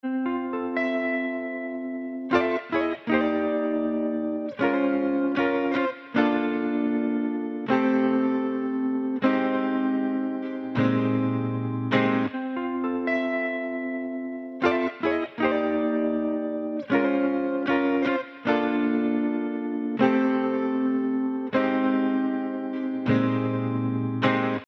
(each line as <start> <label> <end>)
0.0 Guitar 24.6